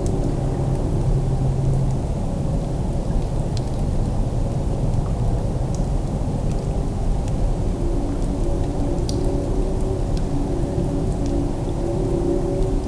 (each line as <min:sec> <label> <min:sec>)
0:06.8 low train calls in the distance 0:12.8